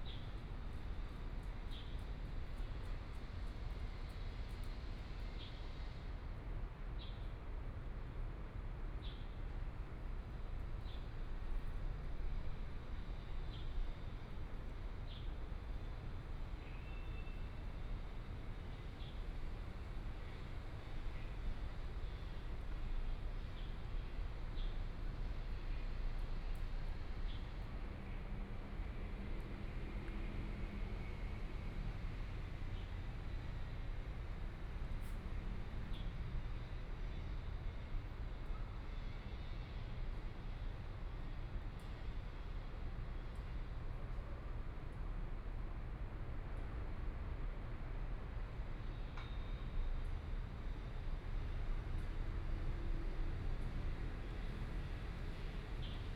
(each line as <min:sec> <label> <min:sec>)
0:11.4 Traffic Sound 0:40.5